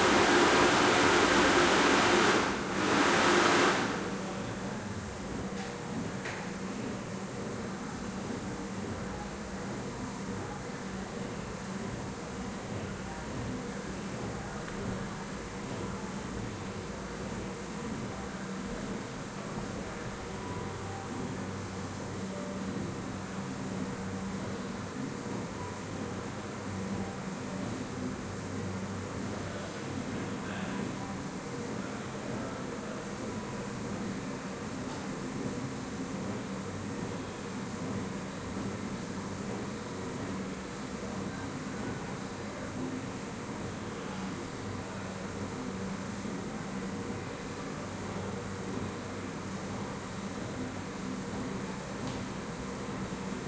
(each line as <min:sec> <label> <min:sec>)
0:00.0 flush 0:04.5